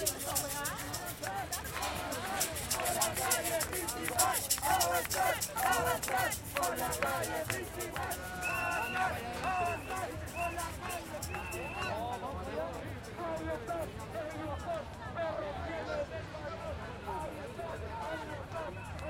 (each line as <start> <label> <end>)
0.0 llegan los guanacos y zorrillos 14.7
0.0 crowd 19.0